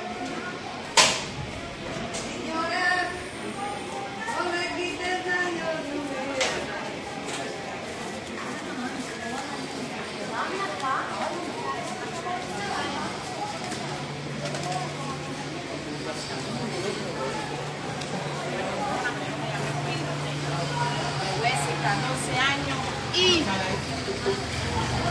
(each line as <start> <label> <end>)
0.0 people 25.1
19.3 cars 25.1